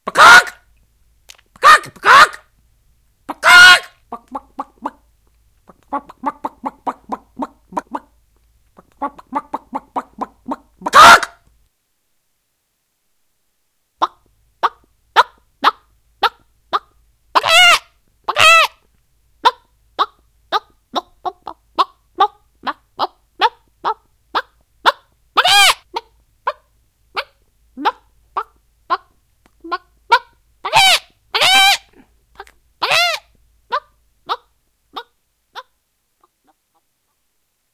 Human voices imitating chickens 0.0 - 0.6
Human voices imitating chickens 1.6 - 2.5
Human voices imitating chickens 3.3 - 5.0
Human voices imitating chickens 5.7 - 8.2
Human voices imitating chickens 8.8 - 11.4
Human voices imitating chickens 14.0 - 18.8
Human voices imitating chickens 19.4 - 26.6
Human voices imitating chickens 27.2 - 35.7

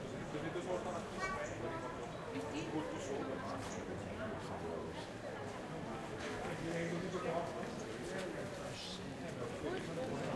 crowd 0.0 - 10.3

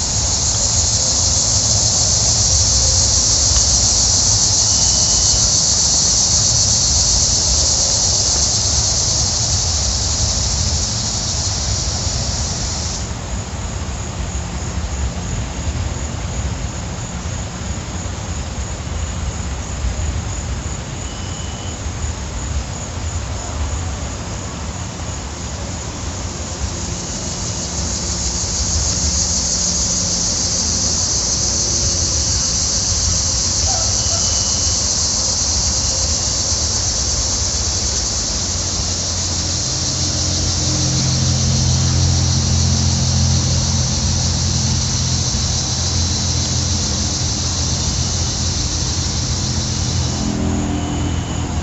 crickets going crazy 0.0 - 51.6
wind 0.0 - 51.6
rooster from the neighbors yard crows 33.6 - 34.8

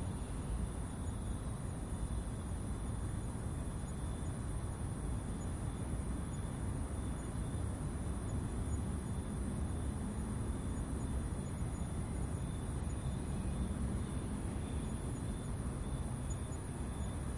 cicada 0.0 - 17.3
crickets 0.0 - 17.3
traffic 0.0 - 17.3

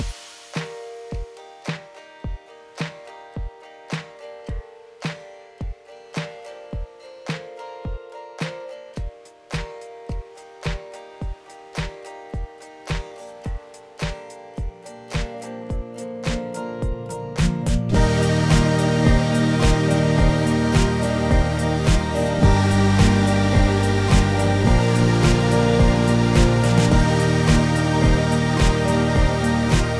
acoustic guitar 0.0 - 29.9
drum samples 0.0 - 29.9
string samples 0.0 - 29.9
digital synths 17.6 - 29.9

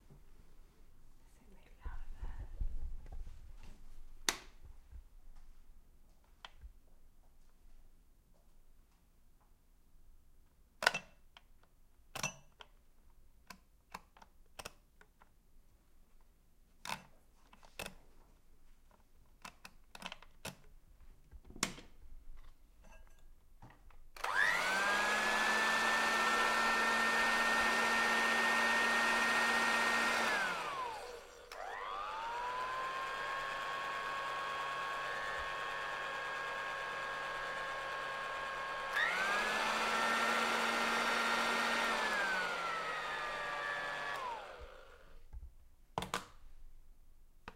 hair dryer at different speeds 24.2 - 45.3

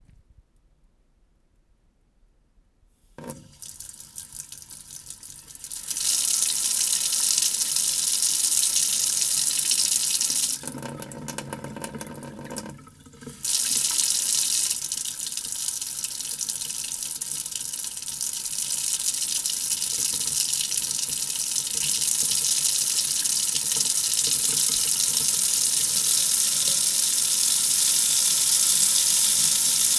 Sink Water 3.2 - 29.9

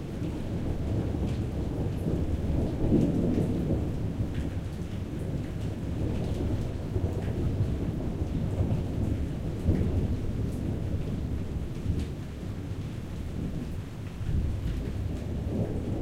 raindrops 0.0 - 16.0
Distant Thunder Rumble 0.2 - 16.0

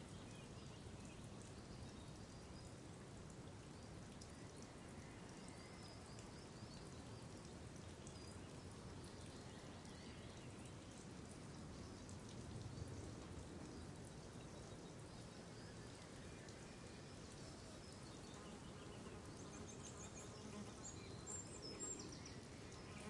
water 0.0 - 23.0

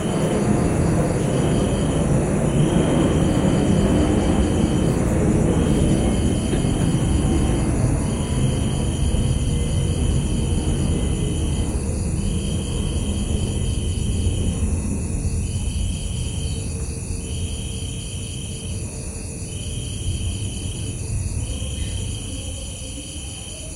Motorbike passing 0.0 - 14.2
Plane passing over 0.0 - 15.6
distant voices 0.0 - 16.4
distant traffic 0.0 - 18.3
Crickets 0.0 - 23.7

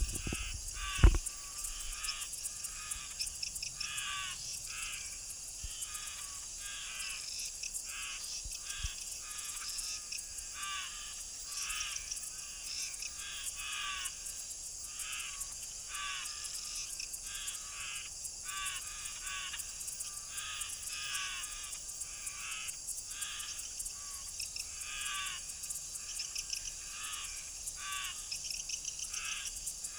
undulated tinamou 0.0 - 1.3

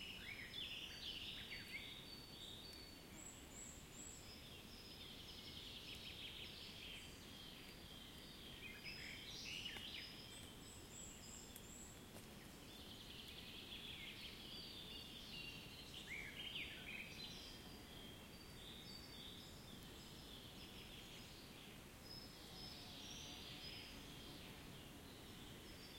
birds 0.0 - 25.9

